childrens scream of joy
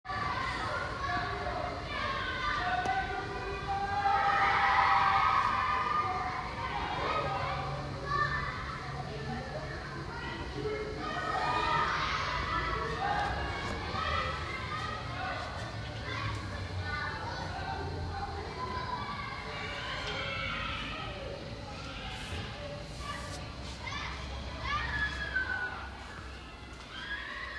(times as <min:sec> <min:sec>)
0:03.8 0:08.4, 0:24.6 0:27.5